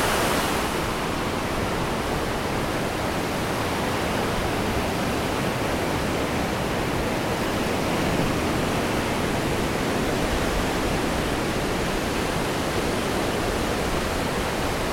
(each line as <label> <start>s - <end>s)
Breaking waves (waist high surf) and spume 0.0s - 2.1s